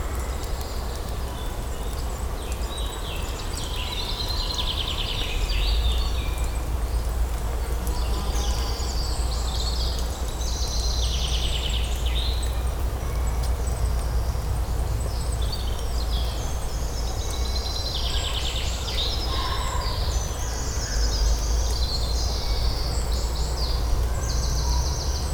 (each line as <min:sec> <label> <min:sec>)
0:00.0 birds singing 0:25.3
0:00.0 wind sound in the pines needles 0:25.3